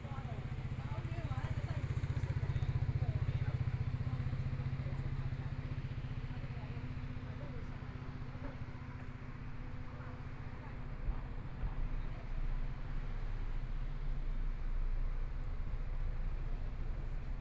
Pedestrians on the road 0.0 - 17.4

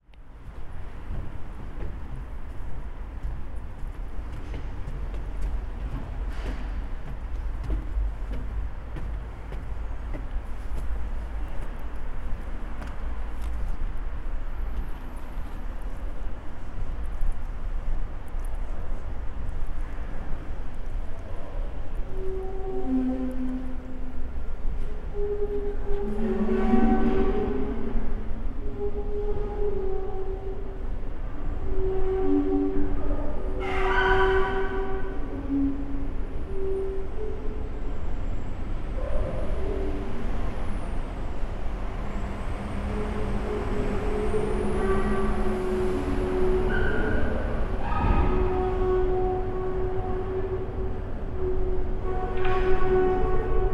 Train is turning around in the station 0.0 - 53.7

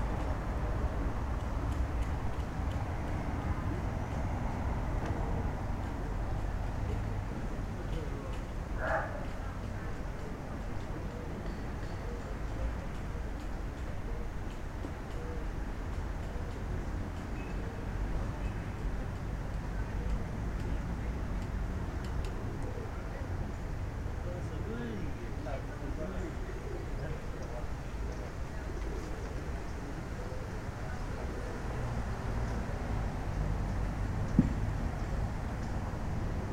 garden workers talking 3.4 - 34.5

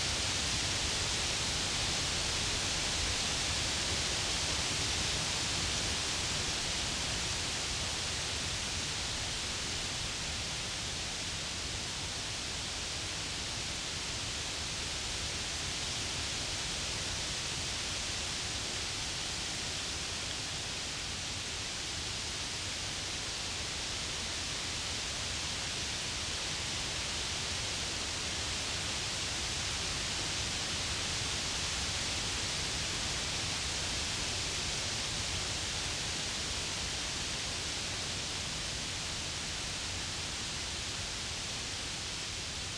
wind in the forest trees 0.0 - 42.7

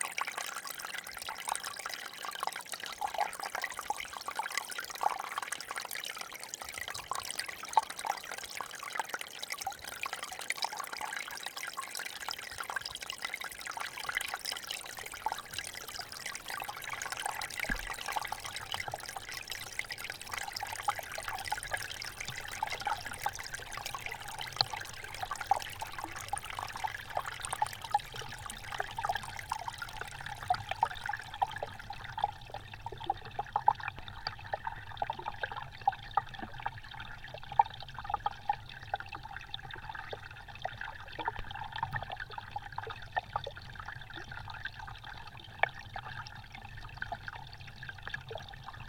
small river 0.0 - 48.8
tiny ice of river 9.0 - 37.2

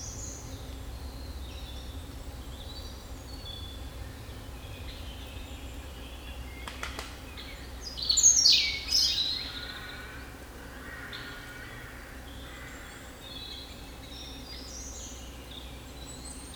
European Robin 4.4 - 16.5

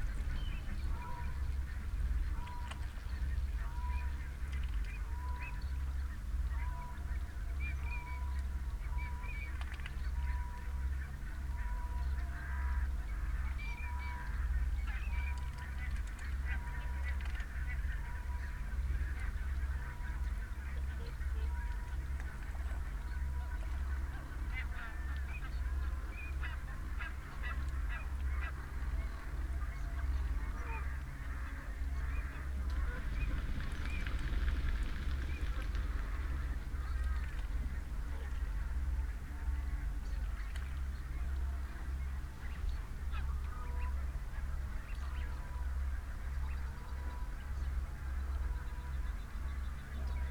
pheasant 0.0 - 50.3
pink-footed geese 6.5 - 50.3
mute swans 6.5 - 50.3

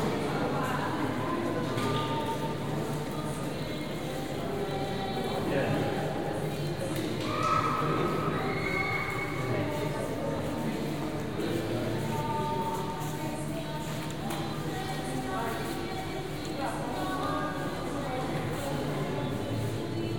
Tourists inside church 0.0 - 20.1

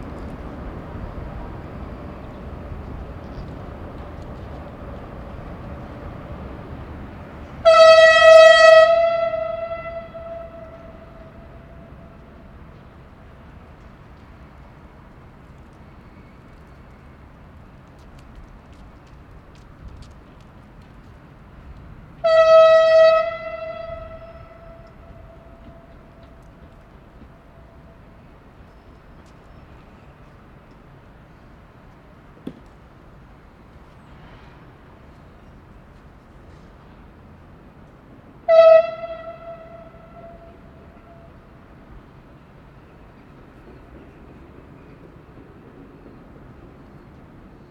horn blasts 7.6 - 12.3
horn blasts 22.2 - 26.3
horn blasts 38.4 - 41.4

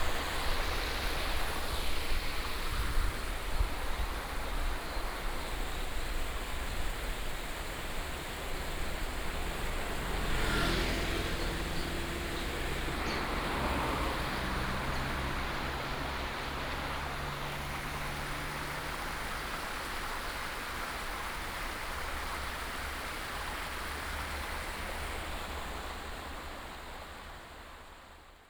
Cicada 0.0 - 25.8
Traffic sound 0.0 - 28.3
stream 0.0 - 28.4
bird sound 9.4 - 15.8

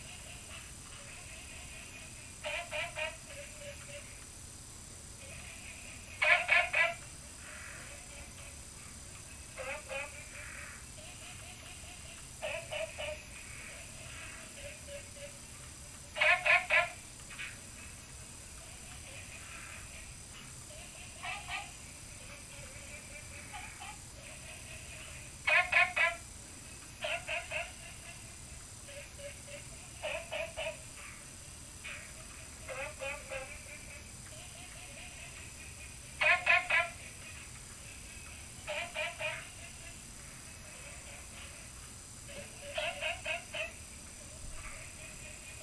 Frog calls 0.0 - 29.4

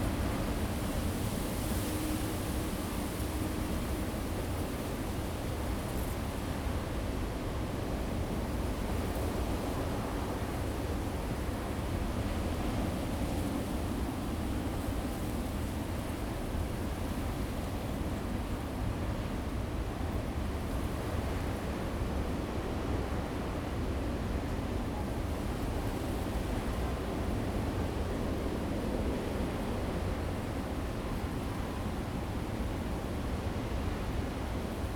waves 0.0 - 34.9

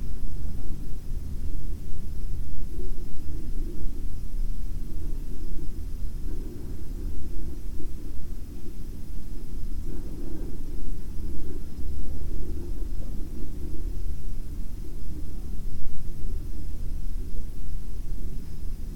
wind coming from the ventilation 0.0 - 18.9

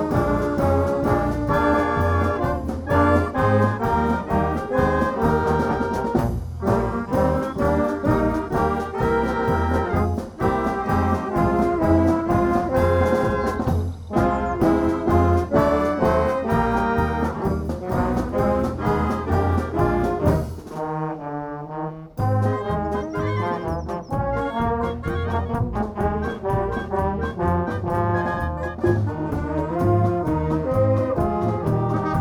brass bands easter concert 0.0 - 32.2

